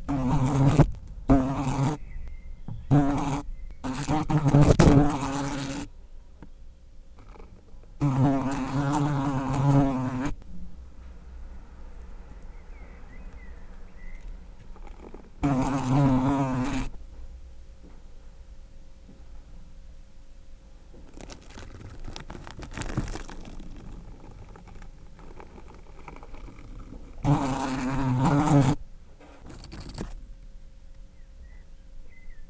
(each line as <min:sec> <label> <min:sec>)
0:00.0 Fly eating 0:05.9
0:07.1 Fly eating 0:17.0
0:20.2 Fly eating 0:30.3